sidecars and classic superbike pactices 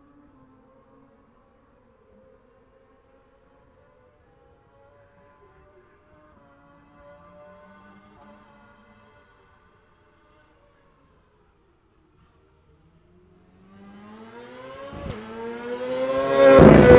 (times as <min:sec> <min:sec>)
0:13.2 0:16.9